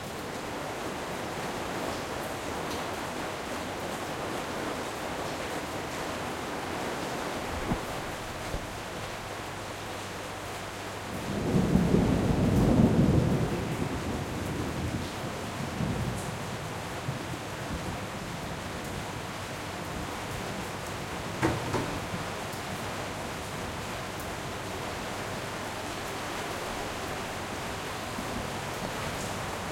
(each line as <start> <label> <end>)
0.0 rain 29.7
7.3 thunders 9.3
11.3 thunders 16.3